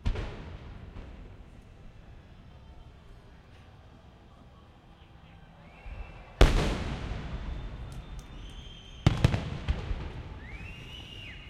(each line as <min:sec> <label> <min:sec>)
0:06.4 fireworks small pops 0:11.4